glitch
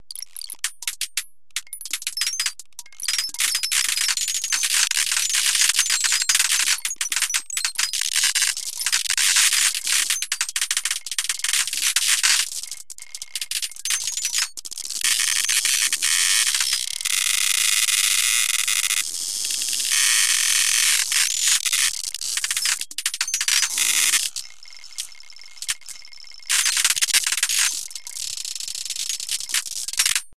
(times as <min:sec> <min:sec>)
0:19.8 0:30.3